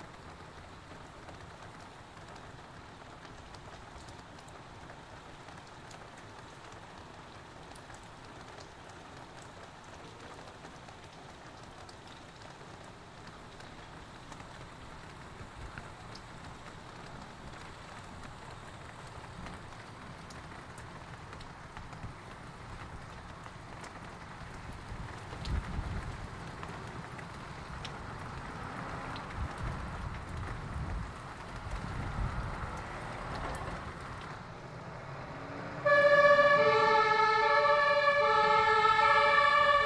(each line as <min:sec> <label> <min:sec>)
0:00.0 hailstones hitting the window 0:34.6
0:00.0 Wind 0:39.8
0:00.0 rain and water noises 0:39.8
0:27.0 firetrucks which are speeding of with sirens 0:39.8